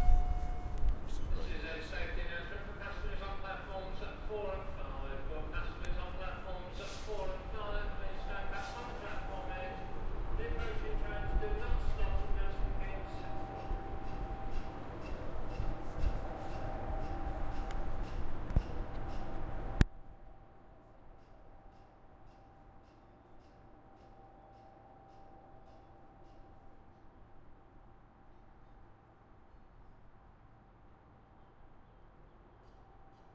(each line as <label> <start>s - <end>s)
two trains at speed through the station 0.0s - 33.3s
distant announcement 1.3s - 15.5s